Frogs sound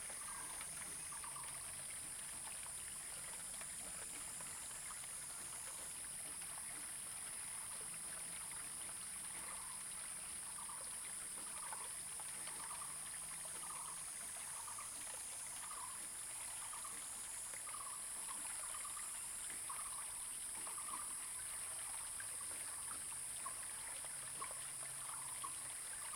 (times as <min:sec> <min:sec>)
0:00.0 0:01.9, 0:13.6 0:22.8